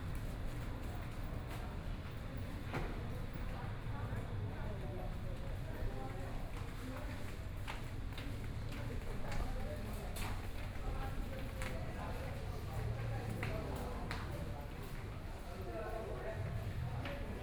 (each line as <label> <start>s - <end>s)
walking in the Temple 4.7s - 17.4s